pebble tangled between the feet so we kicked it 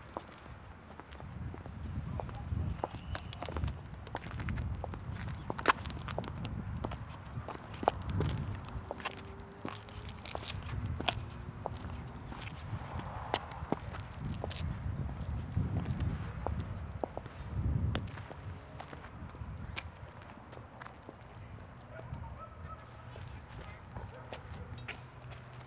1.3s 16.7s

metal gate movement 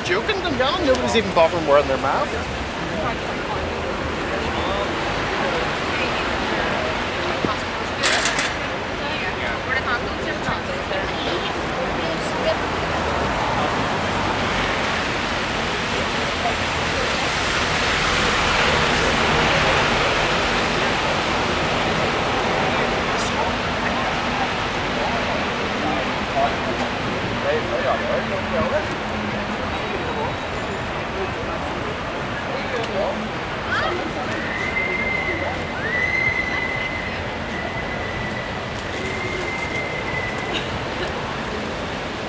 8.0s 9.0s

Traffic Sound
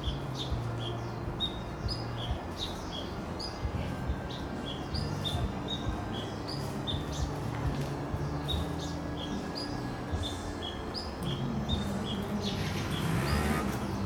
8.8s 14.0s

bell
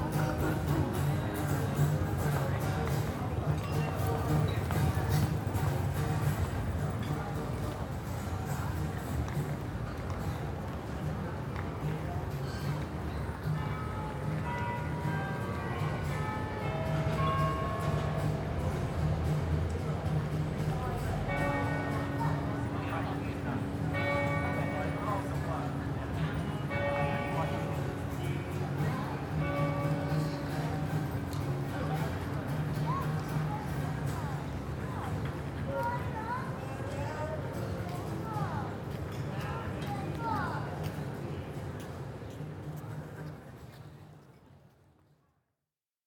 12.3s 33.6s

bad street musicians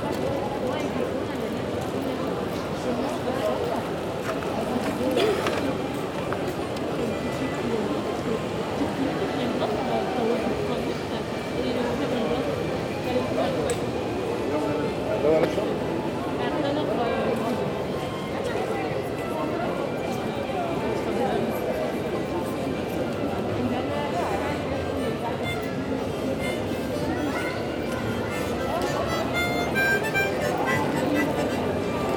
24.6s 32.1s

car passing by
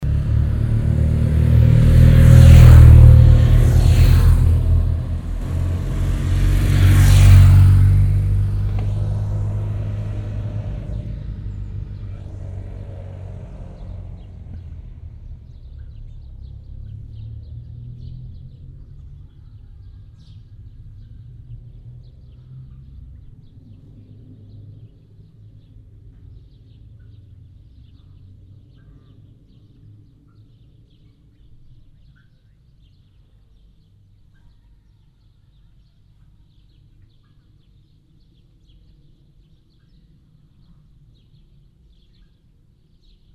0.0s 19.3s

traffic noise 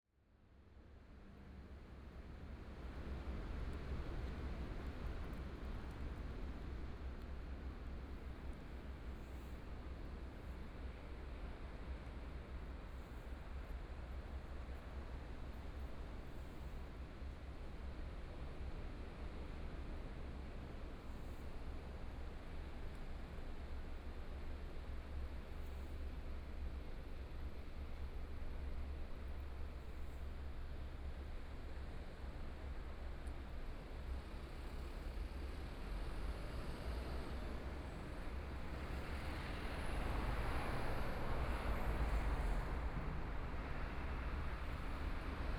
35.1s 45.5s

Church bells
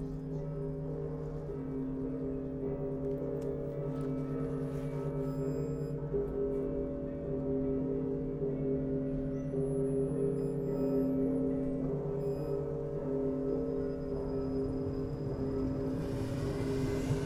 0.1s 5.2s, 11.1s 17.2s

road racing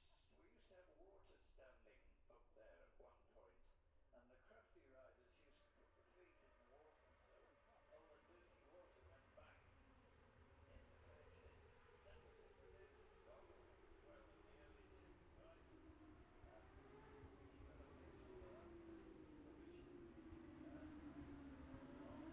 9.8s 22.3s

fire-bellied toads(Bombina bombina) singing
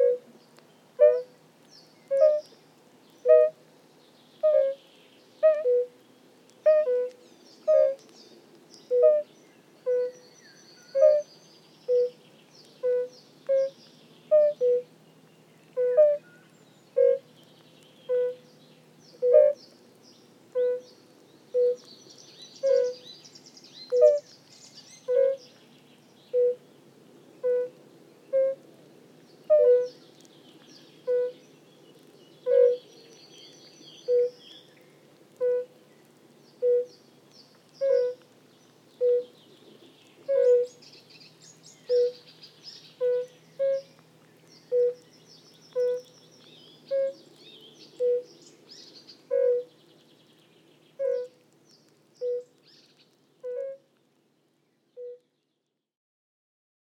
2.1s 2.5s, 8.9s 12.2s, 12.8s 14.9s, 15.8s 17.3s, 18.1s 18.5s, 19.1s 19.6s, 20.6s 20.9s, 21.5s 23.2s, 23.8s 25.4s, 26.3s 26.6s, 27.4s 28.6s, 31.0s 31.4s, 32.4s 34.7s, 36.6s 37.0s, 37.8s 38.2s, 39.0s 39.4s, 40.2s 44.0s, 44.6s 49.8s, 51.0s 51.5s, 52.2s 53.8s

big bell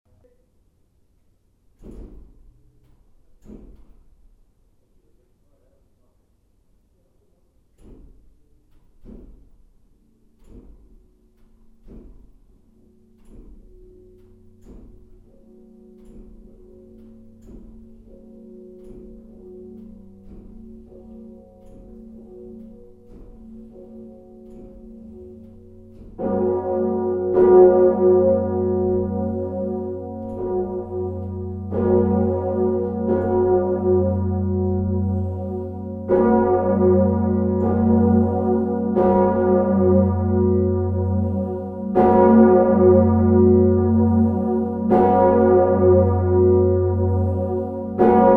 10.0s 48.3s

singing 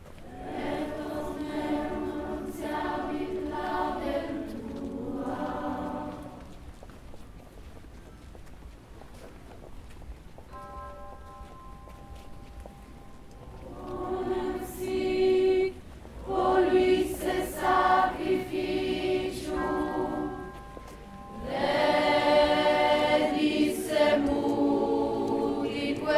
0.3s 6.6s, 13.6s 20.5s, 21.3s 26.1s

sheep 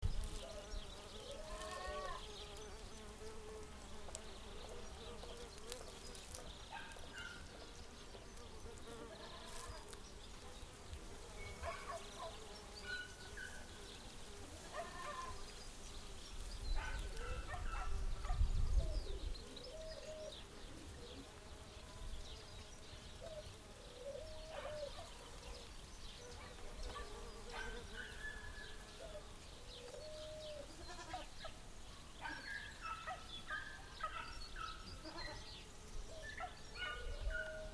1.4s 2.6s, 8.9s 10.0s, 14.6s 15.4s

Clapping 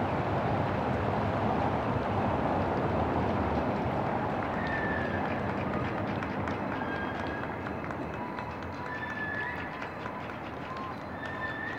4.0s 11.7s

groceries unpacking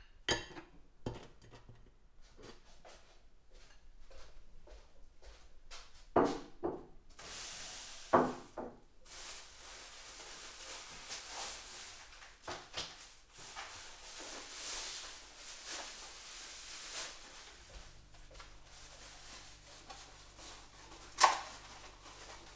7.2s 22.5s

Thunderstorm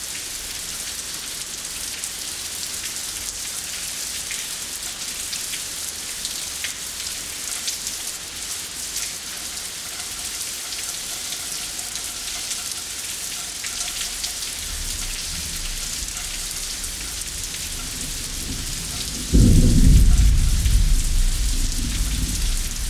14.6s 22.8s

